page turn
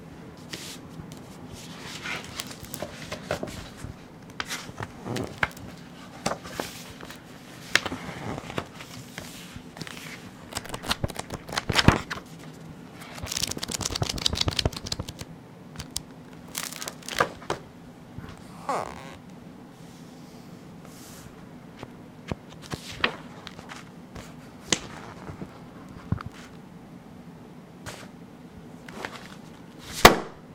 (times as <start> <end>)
0.5 3.8, 4.4 17.5, 22.3 26.5